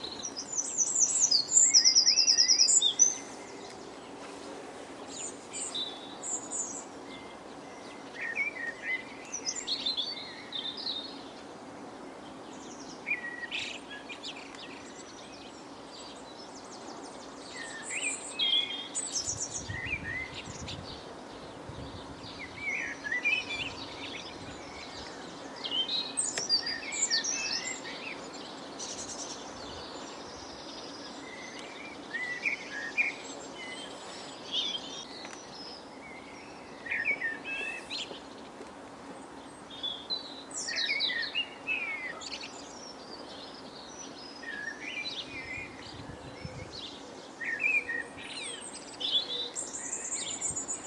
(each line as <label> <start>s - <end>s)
blackbird 0.0s - 4.4s
sparrows 0.0s - 50.8s
blackbird 5.0s - 11.5s
blackbird 12.1s - 50.8s